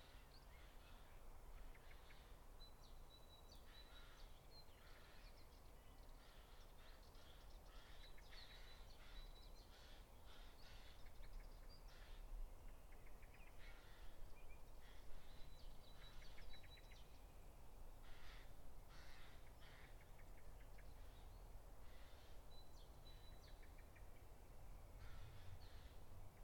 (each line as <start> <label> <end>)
18.0 birds 26.4